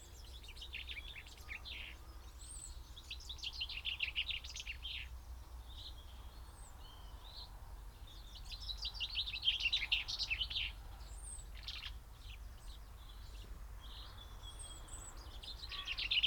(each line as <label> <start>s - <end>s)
Chaffinch song and call 0.0s - 16.2s
blackbird 8.1s - 16.2s
blue tit 12.6s - 16.2s
great spotted woodpecker 15.2s - 16.2s
crow 15.6s - 16.2s